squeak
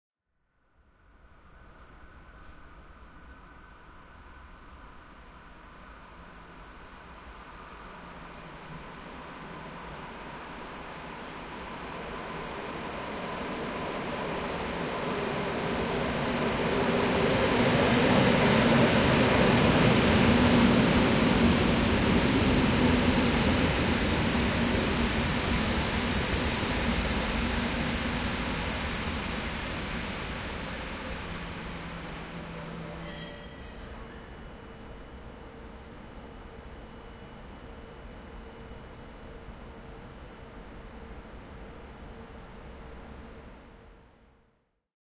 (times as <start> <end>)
26.0 27.8, 30.7 34.3